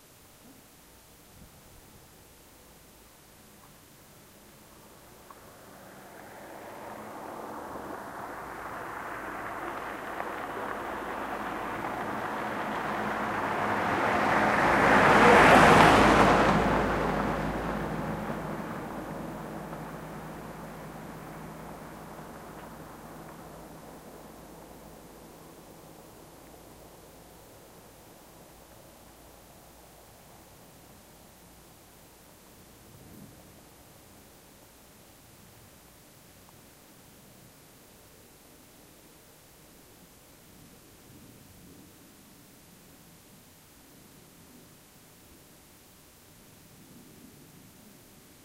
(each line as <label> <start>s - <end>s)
Car passing by, right to left 3.8s - 36.5s